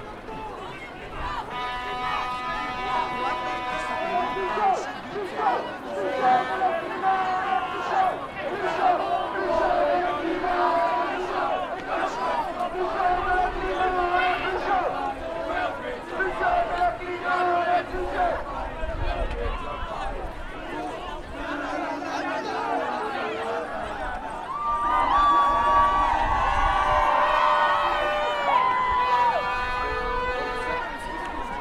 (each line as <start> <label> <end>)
0.0 Climate protests 31.6